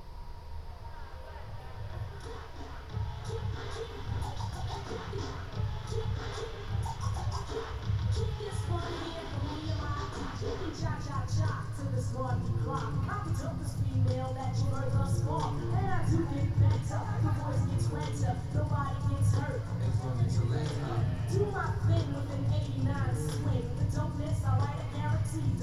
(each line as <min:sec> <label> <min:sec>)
0:01.9 amplified music resonates at high volume 0:25.6